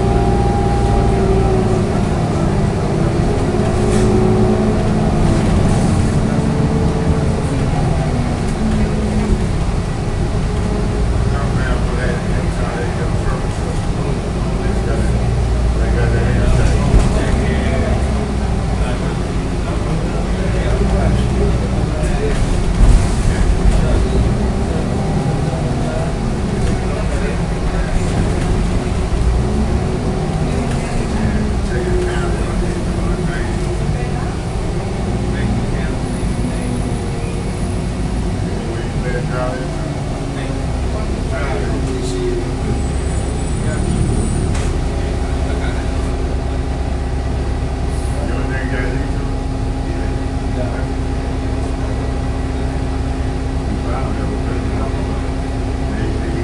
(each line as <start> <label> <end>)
0.0 bus 56.4